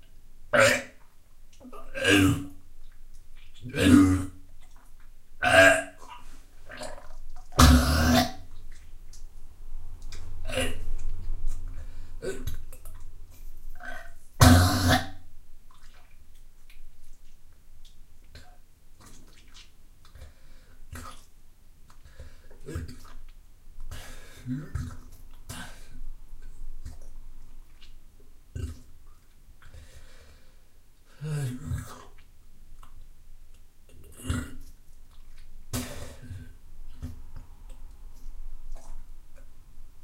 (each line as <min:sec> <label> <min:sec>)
0:00.5 Sick In Toilet 0:01.0
0:01.6 Sick In Toilet 0:02.6
0:03.5 Sick In Toilet 0:04.4
0:05.4 Sick In Toilet 0:08.7
0:10.4 Sick In Toilet 0:13.0
0:13.8 Sick In Toilet 0:16.1
0:23.9 Sick In Toilet 0:27.0
0:35.7 Sick In Toilet 0:37.7